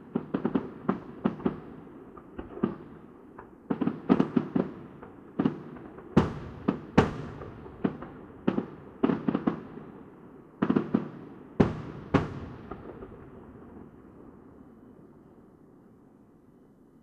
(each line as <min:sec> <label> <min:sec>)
0:00.0 fireworks 0:15.0